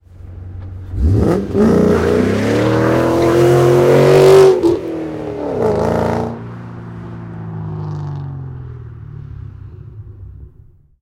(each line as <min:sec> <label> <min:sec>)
0:00.1 Mustang GT500 0:11.0